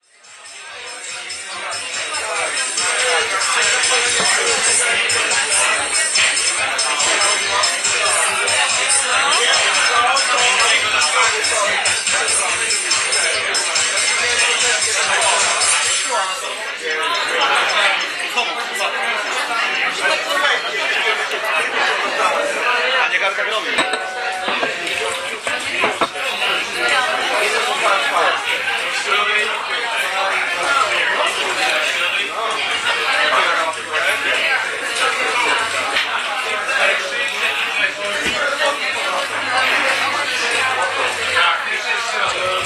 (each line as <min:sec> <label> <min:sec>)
0:00.0 crowd 0:42.6
0:00.0 music 0:18.3